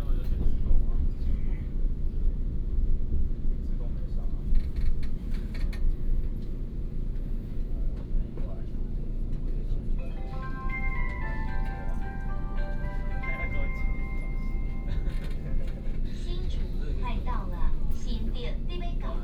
0.0s Train compartment 19.2s
10.1s Compartment message broadcasting 15.2s

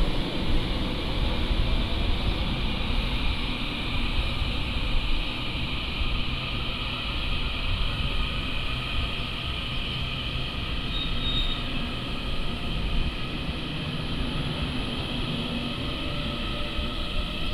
0.0s Train arrives and leaves 17.5s

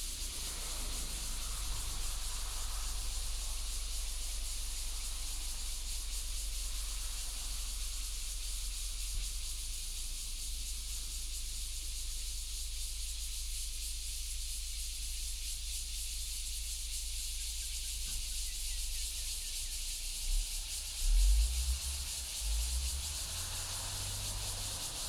0.0s Cicadas sound 25.0s
21.1s Traffic Sound 25.0s

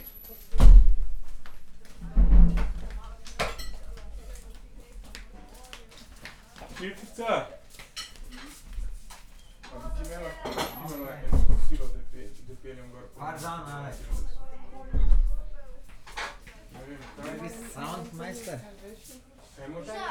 0.0s preparation of lunch 20.1s

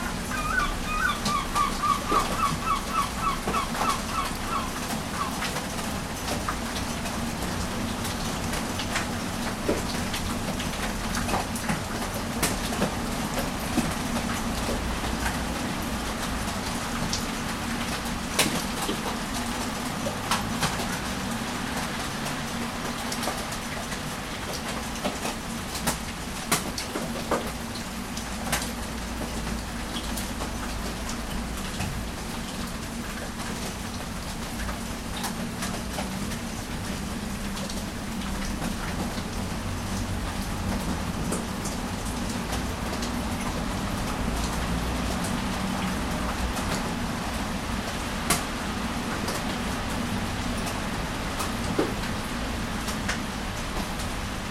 0.0s rain 54.5s

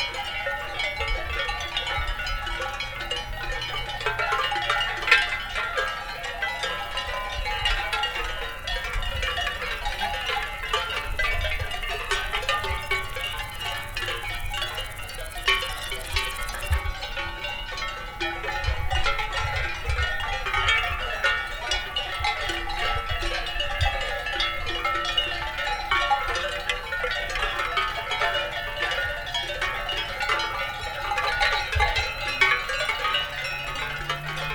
0.0s Cowbells 34.5s

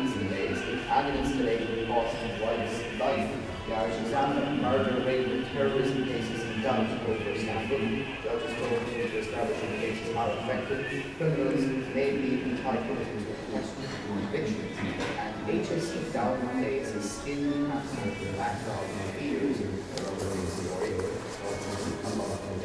0.0s piped music 13.2s
0.0s people fidgeting 16.0s
0.0s Radio broadcast 22.6s
17.8s people fidgeting 22.6s

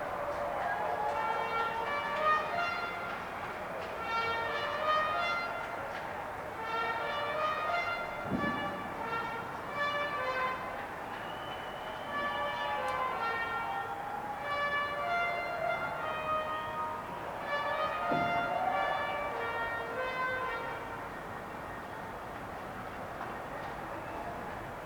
0.0s cheering 7.5s
10.5s cheering 21.3s
23.2s cheering 24.8s

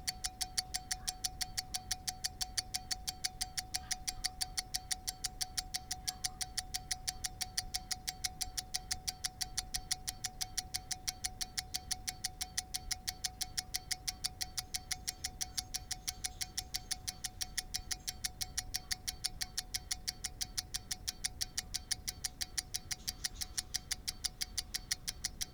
0.0s rotary pocket skeleton watch ticking 25.5s

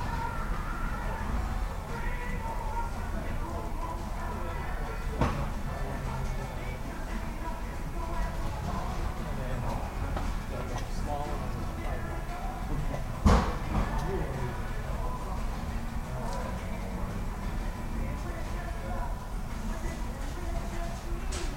13.8s announcements 21.5s

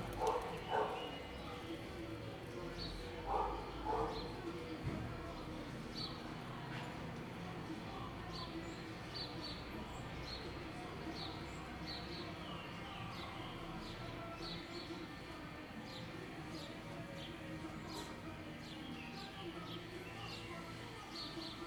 0.0s People talking 21.6s
0.0s music 21.6s

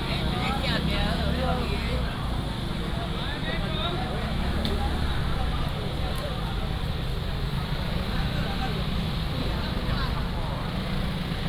4.1s motorcycle 11.4s

